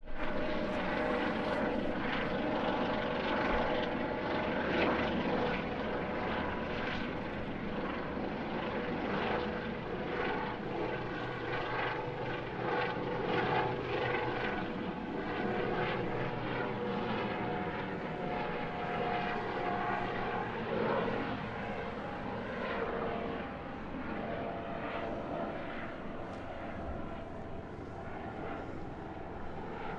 helicopter going away 0.2 - 29.9

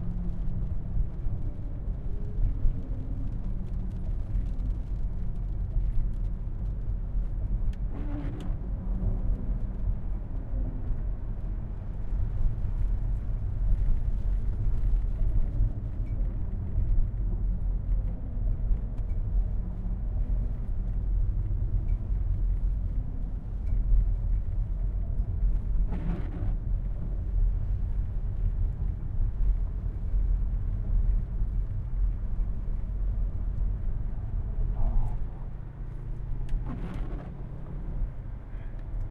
traffic 0.0 - 39.1
car drive 20.1 - 39.1

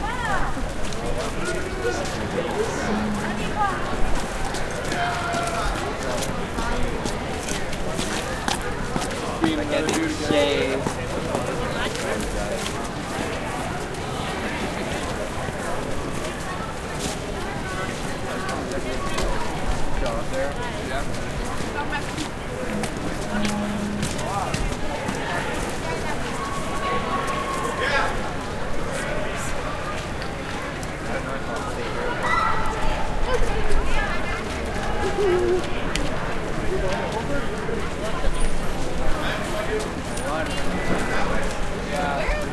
crowd ext footsteps boots wet gritty sidewalk 0.0 - 42.5

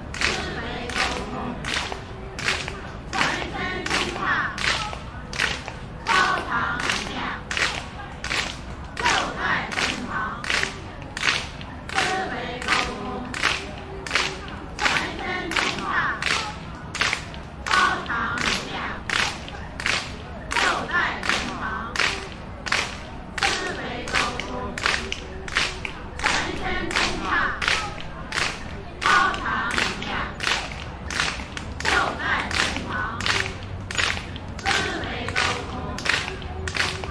clapping group steady rythm 0.0 - 37.1

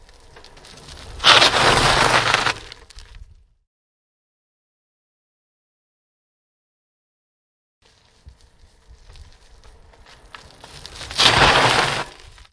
Bicycle braking on gravel 0.0 - 3.6
Bicycle braking on gravel 7.8 - 12.5

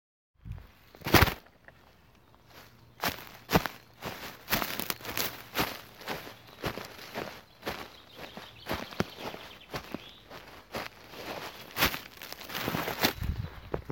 Walking on dry leaves 0.6 - 13.9

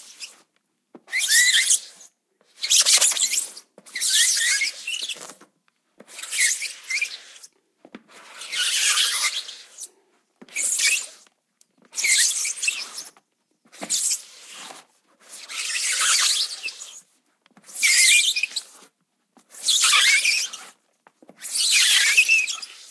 rubber squeak/sliding sound 0.0 - 22.9

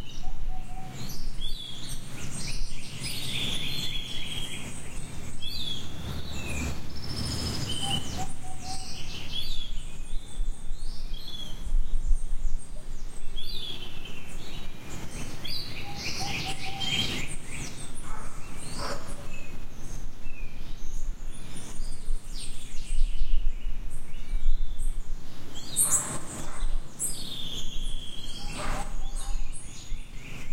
birds 0.0 - 30.5
monkeys 28.3 - 29.6

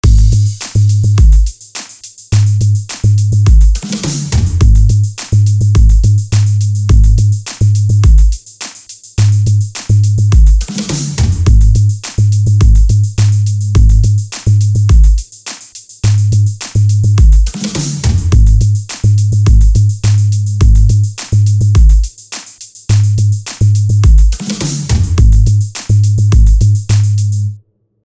Bass 0.0 - 1.4
Hi Hats 0.0 - 27.6
Clap 0.0 - 7.8
Bass 2.3 - 8.2
Clap 8.6 - 12.3
Bass 9.2 - 15.1
Clap 13.2 - 27.4
Bass 16.0 - 22.0
Bass 22.9 - 27.6

